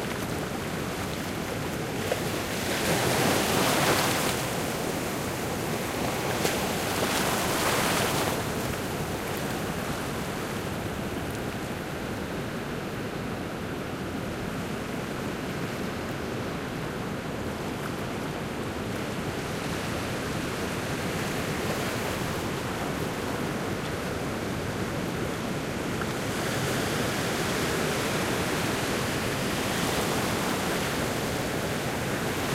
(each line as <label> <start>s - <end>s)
waves crashing on the rock 0.0s - 10.9s